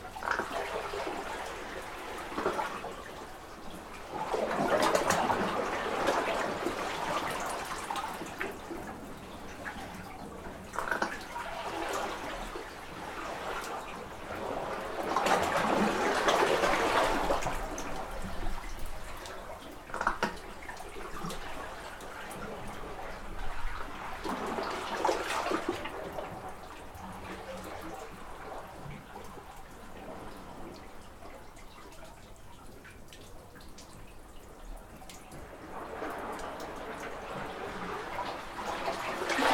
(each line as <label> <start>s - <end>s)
Burping Water under a small cave 14.8s - 21.7s